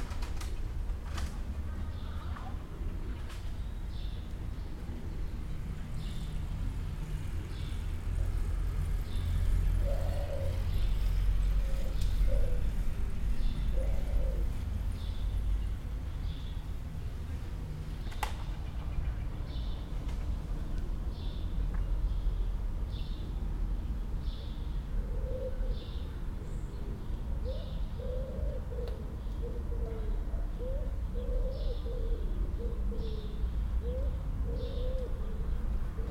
pigeons flapping their wings 0.0 - 1.6
Intermittent calls of pigeons 0.0 - 36.1
Subtle winds 0.0 - 36.1
vehicular hums and traffic 0.0 - 36.1

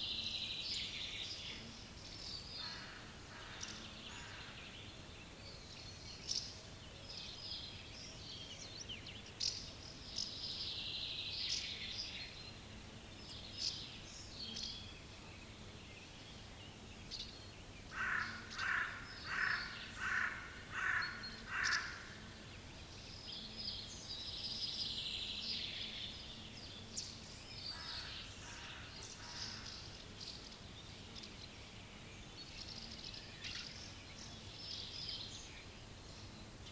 other birds 0.8 - 36.7

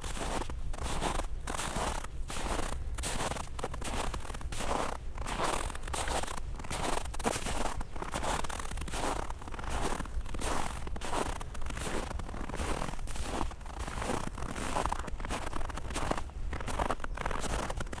steps in the frozen snow 0.0 - 18.0

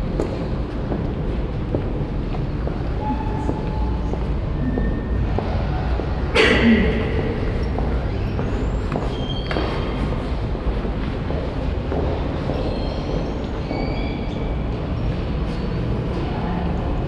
coughing of visitors 6.3 - 7.4

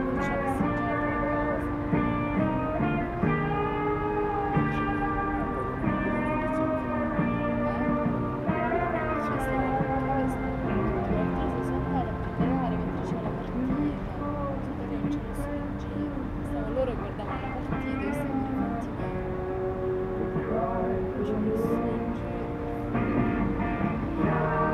Pink Floyd played back 0.0 - 24.7
Conversation 9.3 - 15.5

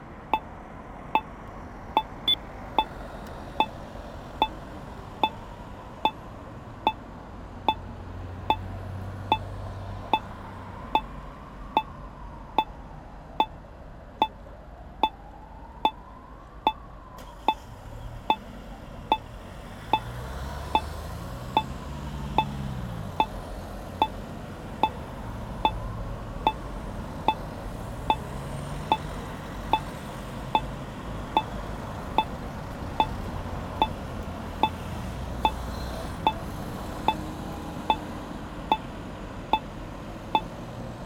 red light allowing people to cross the street 0.0 - 12.8
traffic jam 13.5 - 41.0
red light allowing people to cross the street 14.2 - 41.0

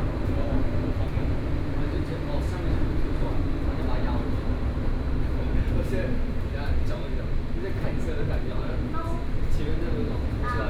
Taipei Metro 0.0 - 10.6

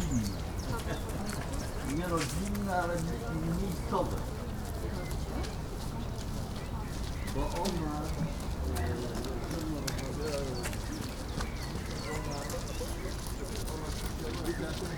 people talking 0.0 - 1.0
conversations of strollers 0.0 - 14.9

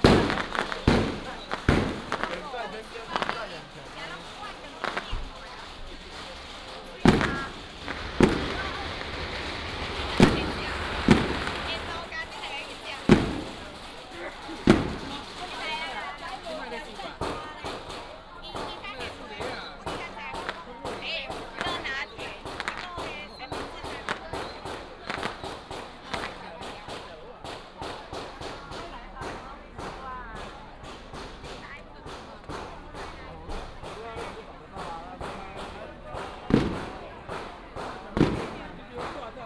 Crowded crowd 0.0 - 39.4
Fireworks 0.0 - 39.4
firecrackers sound 0.0 - 39.4

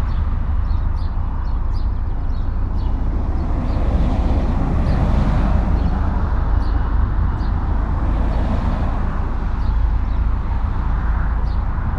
highway 0.0 - 11.9

